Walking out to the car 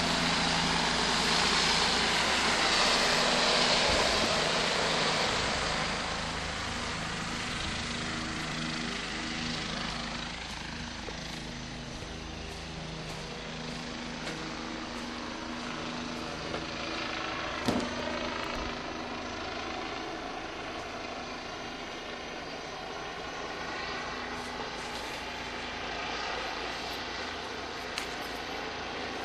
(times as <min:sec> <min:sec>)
0:07.0 0:18.8, 0:24.2 0:25.8